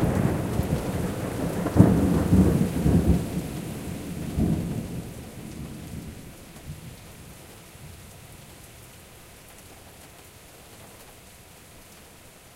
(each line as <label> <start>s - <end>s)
pouring rain 0.0s - 12.5s